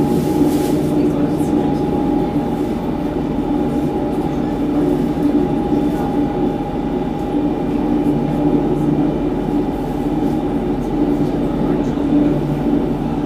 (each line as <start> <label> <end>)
0.0 inside suburban train 13.2